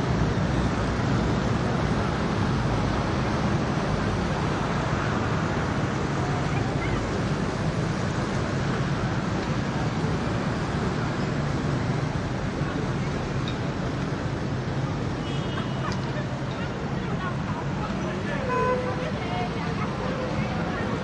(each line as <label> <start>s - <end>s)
scooters mopeds throaty dense semidistant 0.0s - 21.0s
traffic heavy 0.0s - 21.0s